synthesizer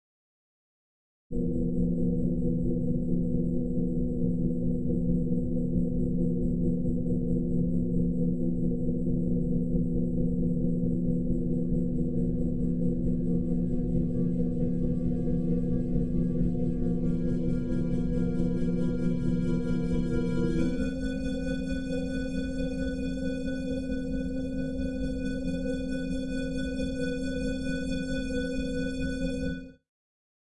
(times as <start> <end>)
10.9 29.8